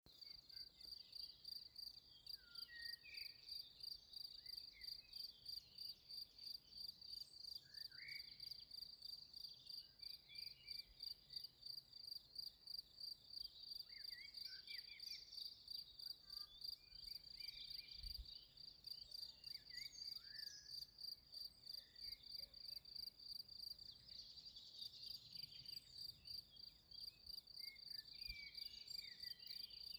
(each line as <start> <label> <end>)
0.1 crickets in the foreground 29.9